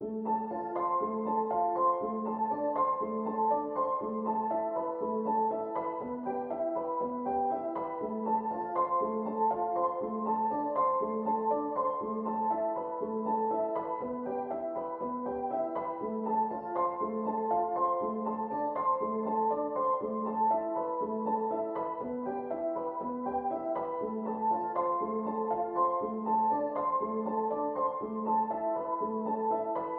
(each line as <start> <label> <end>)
0.0 piano 29.9